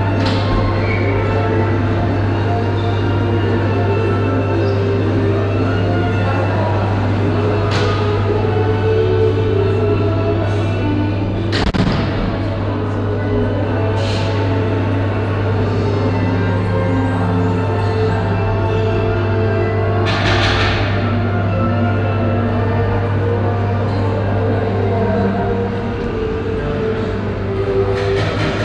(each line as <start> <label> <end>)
0.0 deep ventilaltion hum 28.6